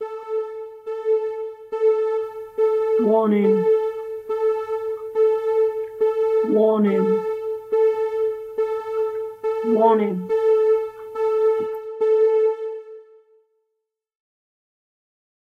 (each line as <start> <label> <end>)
0.0 Warning Sound 13.1
3.0 my own voice 3.7
6.4 my own voice 7.2
9.6 my own voice 10.3